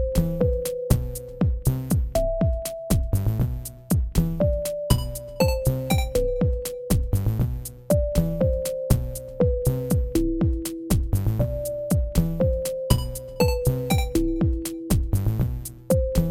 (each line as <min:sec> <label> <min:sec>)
0:07.9 synth 0:15.0